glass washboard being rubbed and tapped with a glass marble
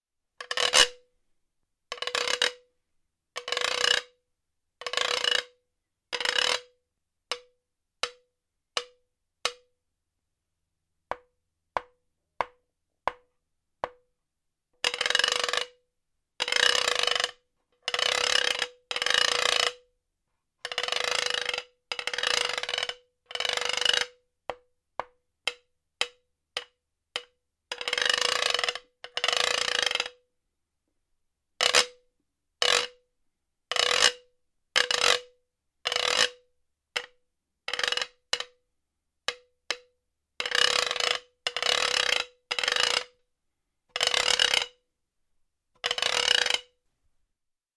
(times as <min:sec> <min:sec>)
0:00.4 0:01.1, 0:01.9 0:02.7, 0:03.4 0:04.2, 0:04.8 0:05.6, 0:06.2 0:09.7, 0:11.1 0:14.1, 0:16.4 0:30.2, 0:31.6 0:32.0, 0:32.6 0:33.0, 0:34.8 0:38.6, 0:39.3 0:43.2, 0:43.9 0:44.8, 0:45.8 0:46.8